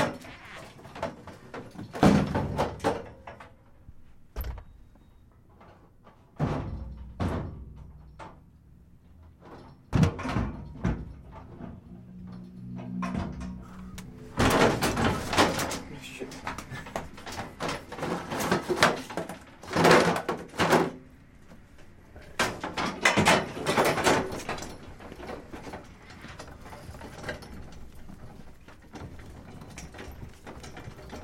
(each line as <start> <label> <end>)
0.0 double door 3.6
0.0 metal delivery dolly with milk crates 31.2
4.3 double door 8.5
9.4 double door 31.2